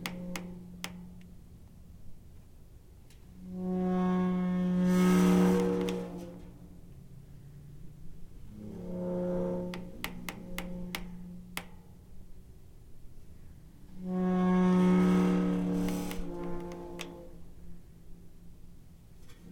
medium size squeaky metal gate 3.4 - 6.7
medium size squeaky metal gate 8.6 - 11.8
medium size squeaky metal gate 13.9 - 17.6

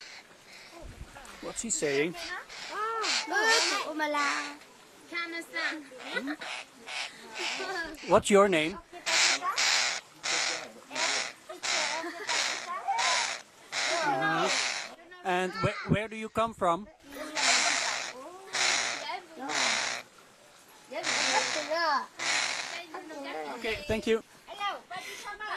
parakeet 9.1 - 14.9
my voice 15.3 - 16.8
parakeet 21.0 - 22.8

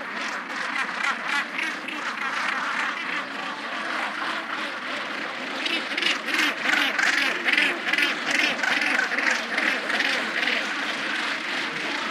Gannet breeding colony 0.0 - 12.1

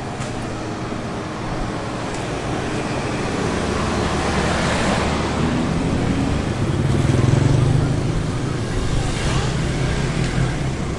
motorbikes 0.0 - 10.9
voices 5.1 - 10.9

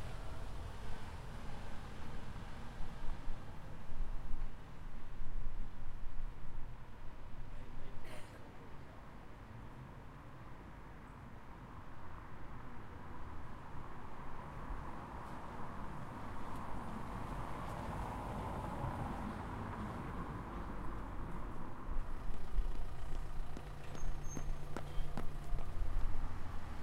wind 0.0 - 26.8
cars 7.2 - 26.8
runners 22.2 - 26.4

